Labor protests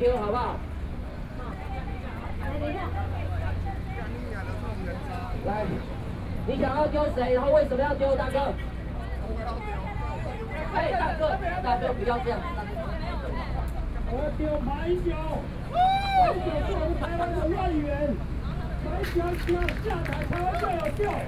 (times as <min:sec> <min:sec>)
0:17.7 0:21.2